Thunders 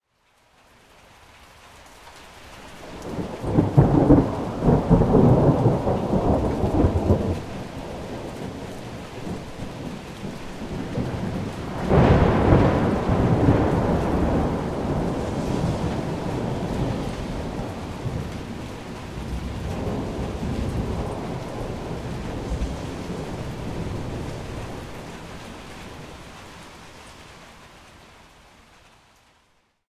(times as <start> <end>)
3.0 26.3